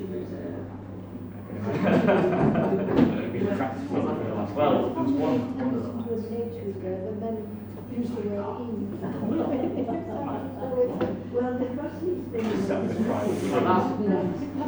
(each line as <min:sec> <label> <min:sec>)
0:05.0 two ladies talk 0:14.6